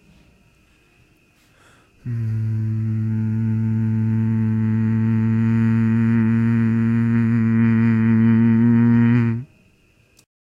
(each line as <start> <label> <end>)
2.0 humming in a deep tone 9.6